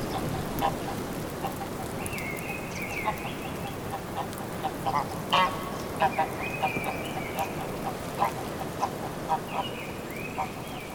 birds 0:00.0 - 0:10.9
rain 0:00.0 - 0:10.9

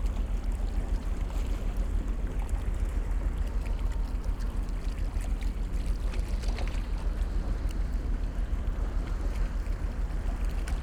cargo ship is moving upstream 0:00.0 - 0:10.8

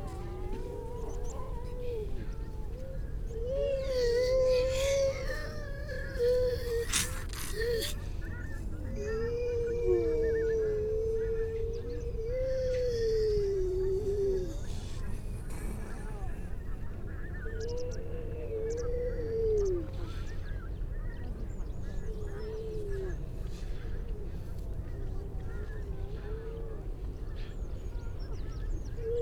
grey seals 0:00.0 - 0:29.2
skylark 0:14.5 - 0:18.1

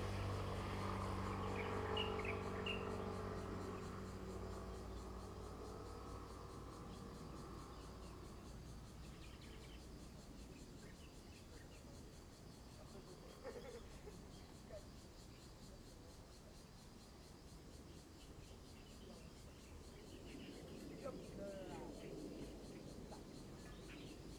Birdsong 0:00.0 - 0:05.2

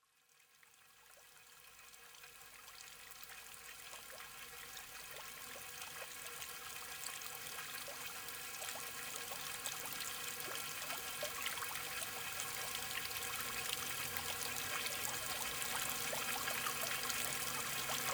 Strange fountain 0:00.4 - 0:18.1

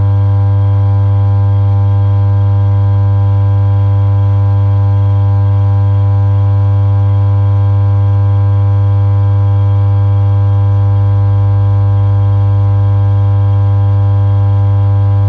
Electrical substation hum 0:00.0 - 0:10.8
Electrical substation hum 0:14.8 - 0:15.2

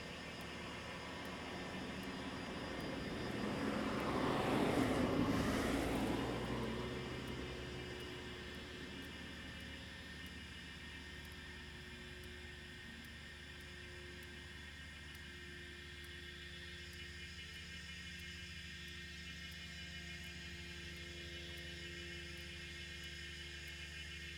Cicadas sound 0:00.0 - 0:24.3
Traffic Sound 0:01.1 - 0:08.9

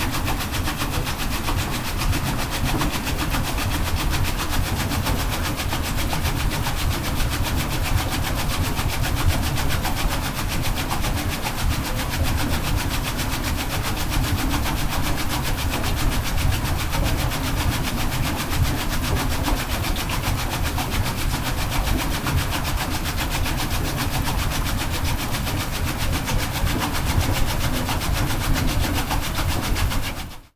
Water wheel 0:00.0 - 0:30.5

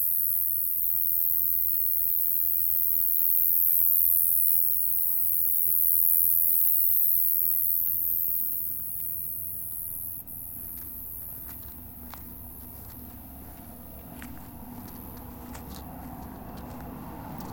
Insects at night 0:00.0 - 0:17.5

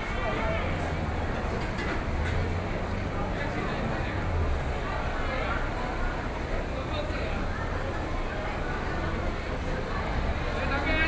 Walking through the market 0:05.7 - 0:11.0

